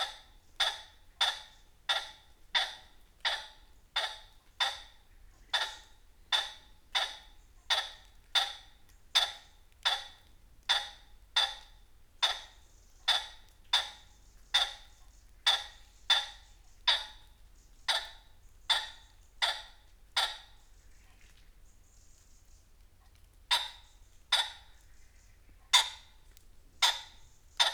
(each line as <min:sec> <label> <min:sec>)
0:00.0 red-legged partridge 0:27.7
0:23.4 pheasants leaving roost 0:27.7